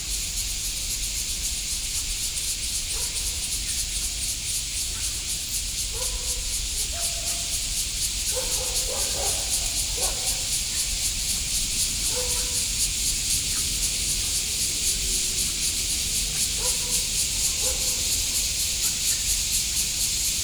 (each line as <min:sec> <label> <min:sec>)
0:00.0 Cicadas chirping 0:20.4
0:00.7 The frogs 0:20.4
0:02.9 Dog barking 0:03.4
0:05.9 Dog barking 0:07.6
0:08.3 Dog barking 0:10.6
0:12.0 Dog barking 0:12.7
0:16.6 Dog barking 0:18.3